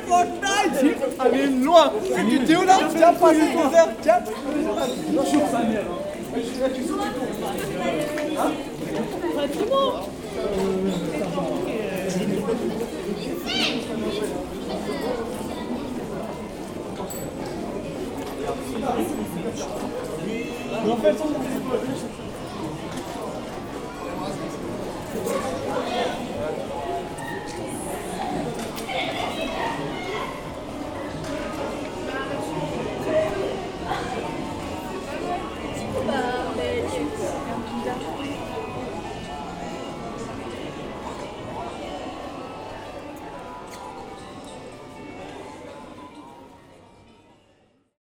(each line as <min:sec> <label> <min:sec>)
0:00.0 group of young people talks loudly 0:48.0